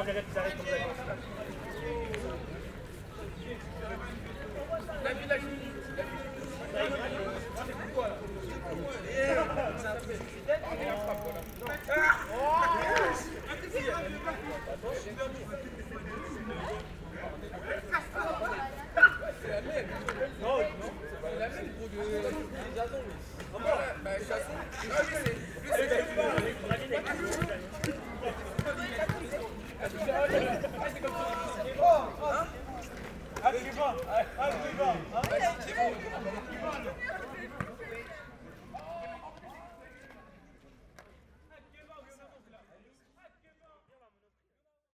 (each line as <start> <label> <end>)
0.0 noisy young people playing nearby 44.4